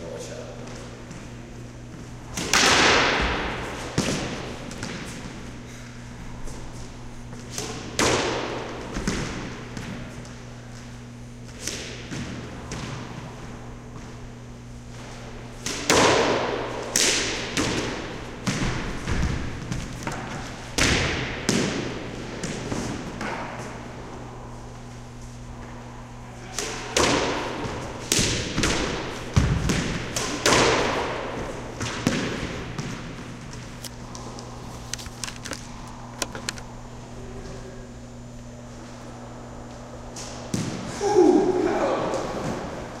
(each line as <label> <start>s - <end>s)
Game of squash in a resonant squash court 0.0s - 43.0s